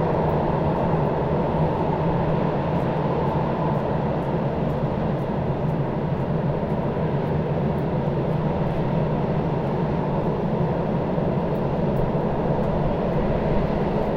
train crossing bridge 0:00.0 - 0:14.1

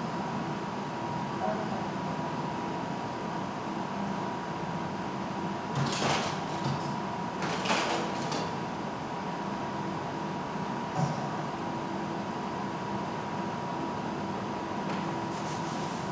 two slide projectors at work 0:05.7 - 0:16.1

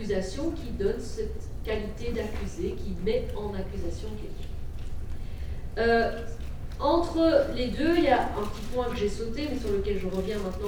course of legal matters 0:00.0 - 0:10.6

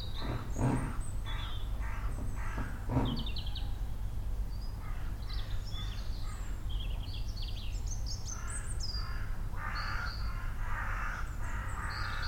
occasional cyclist or walker 0:00.0 - 0:03.5
Woodpecker 0:00.0 - 0:03.6
many other birds 0:00.0 - 0:12.2
Crows 0:00.1 - 0:03.9
occasional hammerings 0:02.2 - 0:03.4
Crows 0:04.8 - 0:06.6
Crows 0:08.3 - 0:12.2

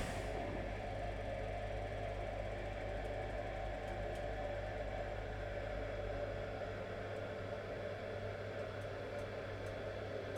gas heating in my kitchen produces an interesting range of sounds 0:00.0 - 0:00.5

